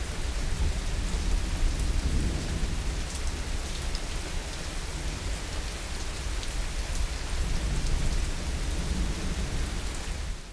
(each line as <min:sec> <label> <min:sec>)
0:00.0 Summer Rain 0:10.5